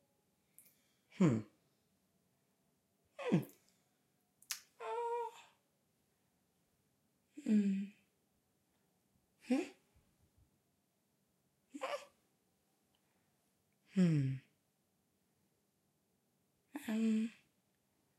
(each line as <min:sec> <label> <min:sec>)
0:03.2 woman makes several non-verbal sounds 0:03.7
0:09.4 woman makes several non-verbal sounds 0:09.8